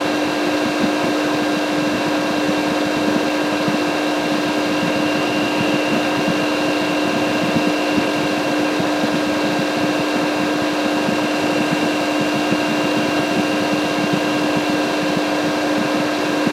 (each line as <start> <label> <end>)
0.0 Water Pump 16.5